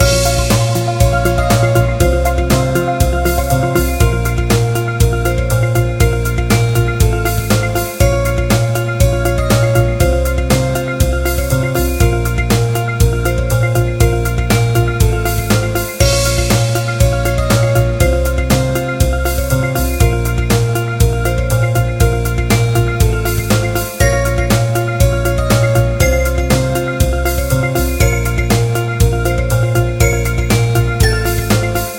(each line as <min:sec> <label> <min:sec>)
0:00.0 music loop 0:31.9